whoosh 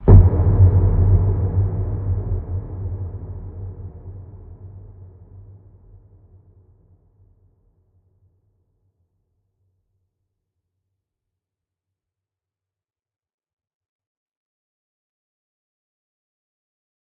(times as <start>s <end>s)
0.0s 5.4s